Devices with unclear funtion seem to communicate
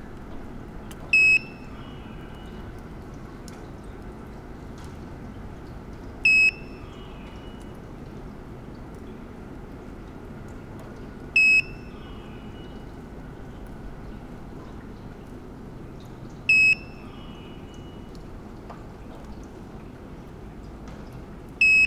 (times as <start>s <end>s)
16.5s 17.4s